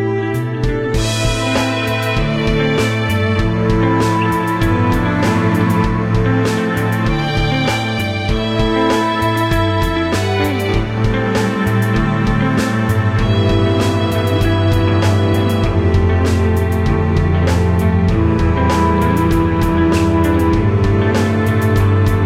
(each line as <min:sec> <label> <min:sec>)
0:00.0 bass 0:22.2
0:00.0 guitar 0:22.2
0:00.0 strings 0:22.2
0:00.0 violin 0:22.2
0:00.6 drum 0:22.2